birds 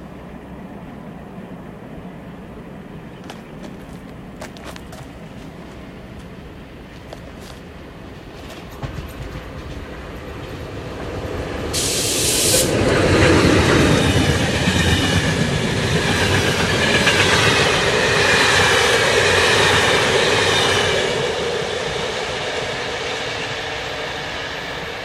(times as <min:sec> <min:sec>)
0:02.9 0:04.9